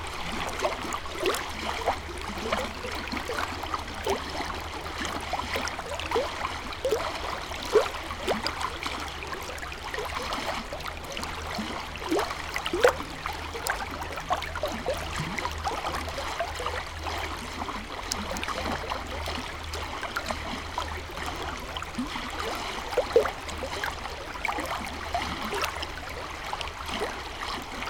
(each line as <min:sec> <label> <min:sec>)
0:00.0 river 0:27.8